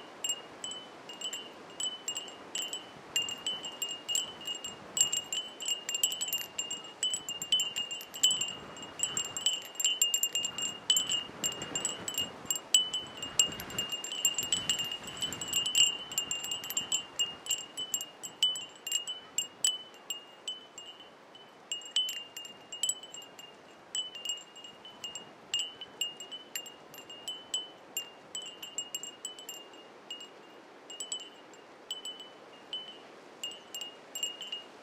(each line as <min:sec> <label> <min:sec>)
0:00.0 Wind Chimes 0:34.8
0:02.4 strong gusts 0:17.6